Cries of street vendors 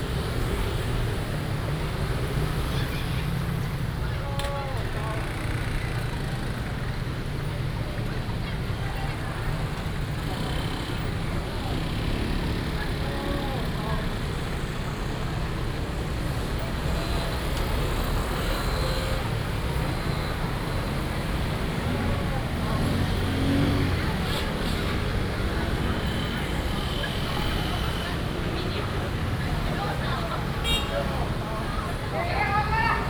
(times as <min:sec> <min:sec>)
0:18.4 0:33.0